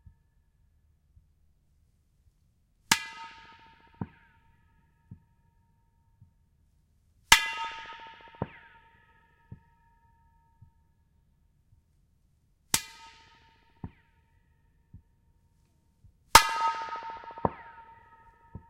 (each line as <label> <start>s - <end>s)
Pipe Echoes 16.3s - 18.6s